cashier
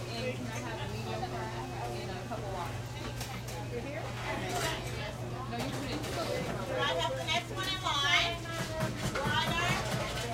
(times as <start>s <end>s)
4.3s 5.0s